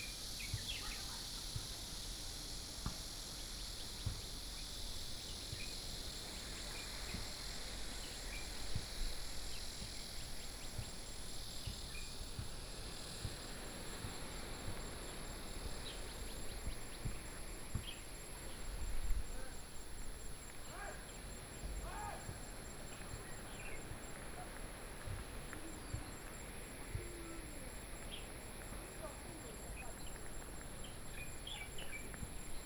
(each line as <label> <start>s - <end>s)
Cicadas sound 0.0s - 32.6s
waves 12.4s - 32.6s
Birdsong sound 15.0s - 18.9s
Birdsong sound 22.6s - 24.2s
Birdsong sound 28.0s - 28.3s
Birdsong sound 29.3s - 32.6s